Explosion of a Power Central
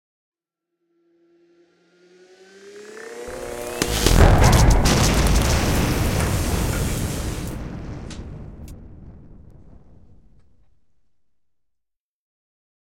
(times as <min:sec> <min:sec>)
0:03.3 0:11.0